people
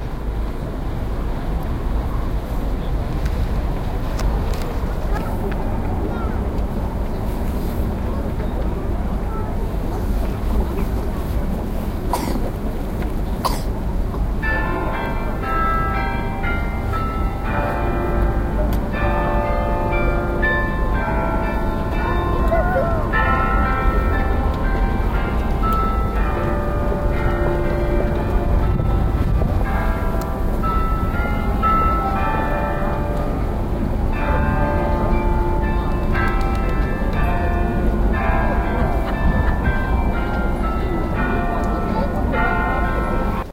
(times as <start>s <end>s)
4.2s 12.6s